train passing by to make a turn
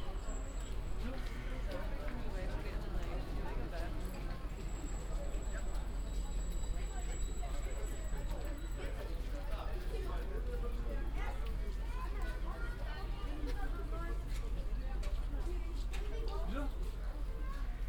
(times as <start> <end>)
1.7 10.6